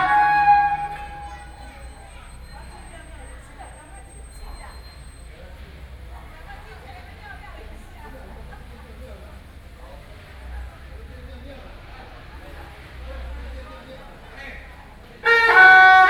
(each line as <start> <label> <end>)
0.0 Traditional musical instruments 1.7
0.0 Gong 1.8